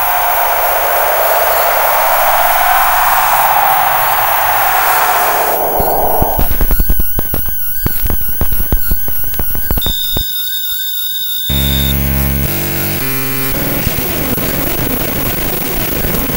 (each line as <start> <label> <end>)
0.0 screech 8.2
0.0 feedback 10.2